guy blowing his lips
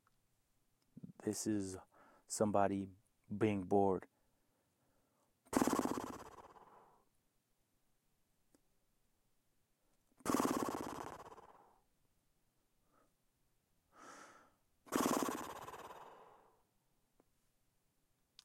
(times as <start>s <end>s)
5.5s 7.0s, 10.2s 11.6s, 14.0s 16.4s